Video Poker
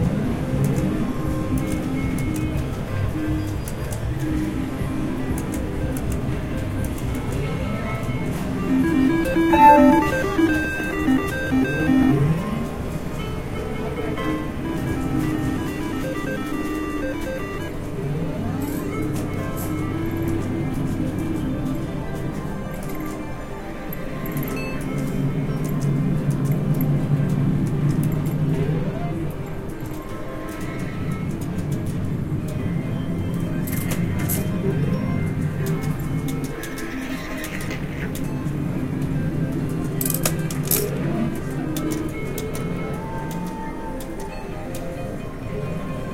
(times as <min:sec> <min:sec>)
0:08.6 0:12.3